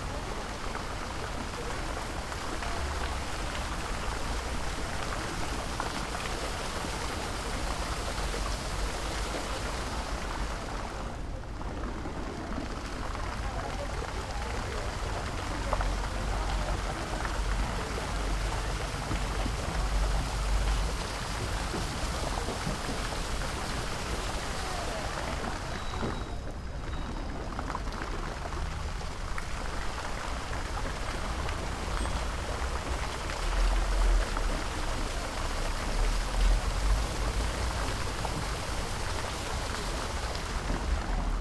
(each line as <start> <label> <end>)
0.0 Fountain 41.4